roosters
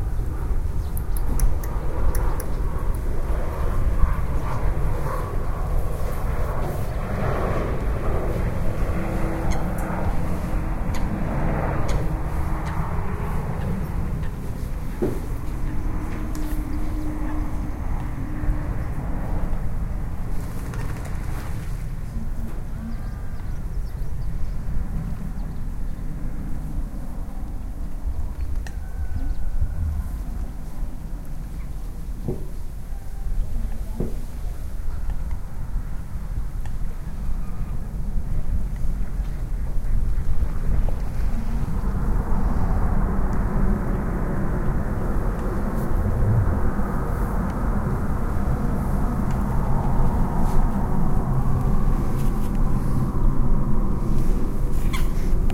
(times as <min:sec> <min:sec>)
0:28.3 0:30.9